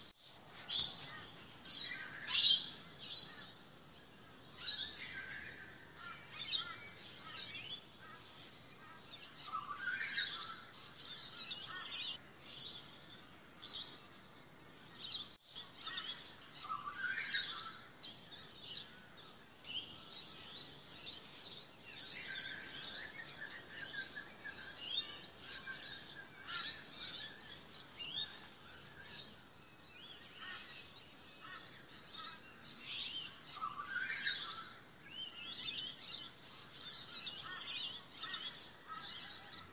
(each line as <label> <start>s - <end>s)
bird sounds 0.0s - 39.7s